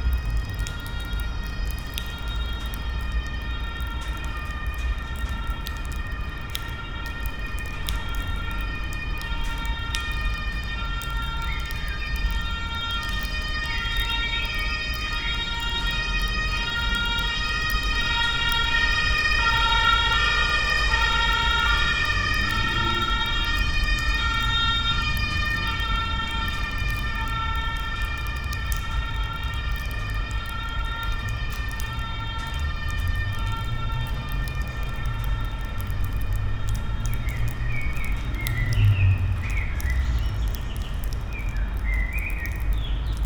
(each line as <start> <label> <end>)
0.0 dripping water 43.2
0.0 traffic 43.2